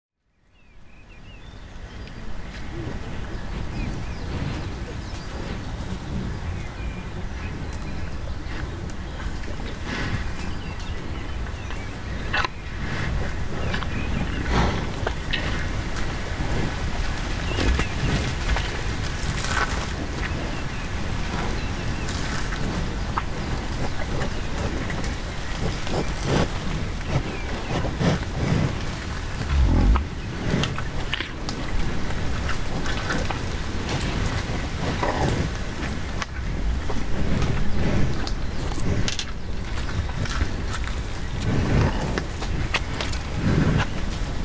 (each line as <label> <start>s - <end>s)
Hereford Cattle 2.5s - 30.8s
Hereford Cattle 31.4s - 44.4s